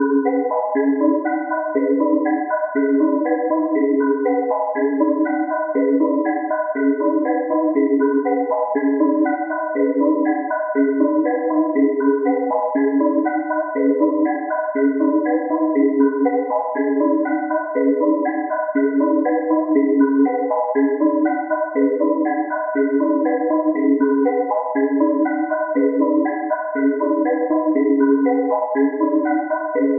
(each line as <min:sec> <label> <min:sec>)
0:00.0 echoing rhythmic yet erratic looped synth note sequence 0:29.9